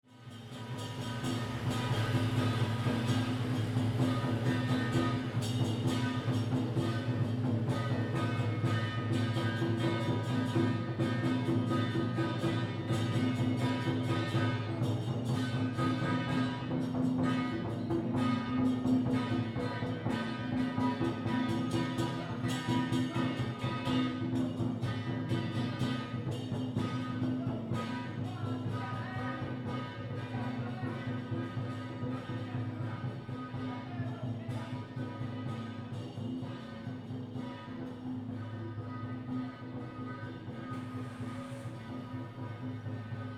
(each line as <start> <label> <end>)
0.0 Traditional festival parade 43.3